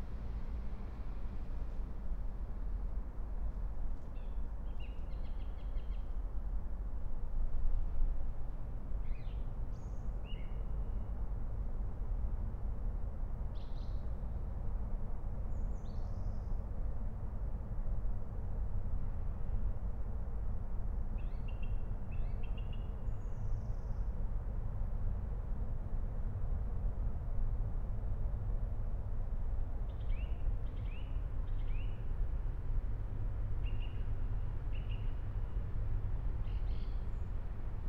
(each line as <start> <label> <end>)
29.9 Song thrush 32.1
33.6 Song thrush 34.0
34.7 Song thrush 35.2
36.4 Song thrush 37.4